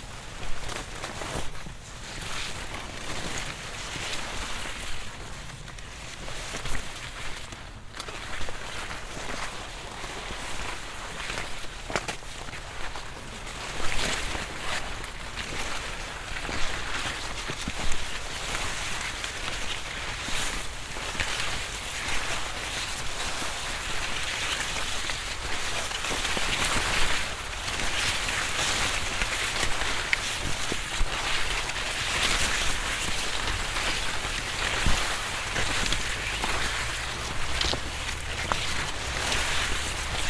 leaves passing by 18.5 - 40.2

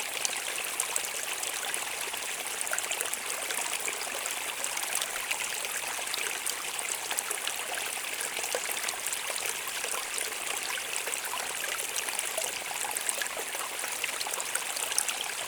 Creek 0.0 - 15.4

